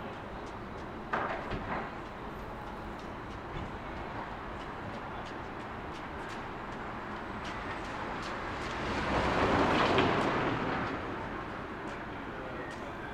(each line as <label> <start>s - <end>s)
pedestrian/vehicle movement 0.0s - 13.1s